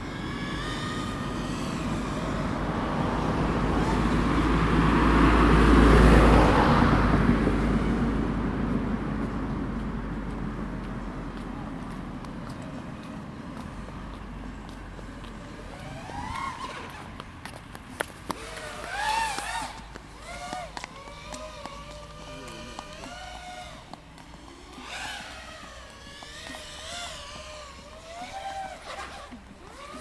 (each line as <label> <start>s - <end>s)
Drone flying around 0.0s - 30.0s
traffic noises 0.0s - 30.0s
people walking 8.6s - 29.9s